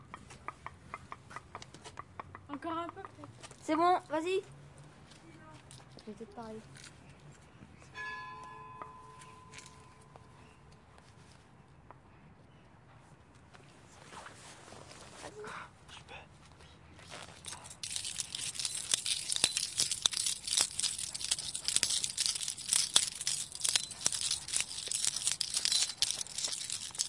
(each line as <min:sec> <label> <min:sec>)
0:17.3 Keys jangling 0:27.0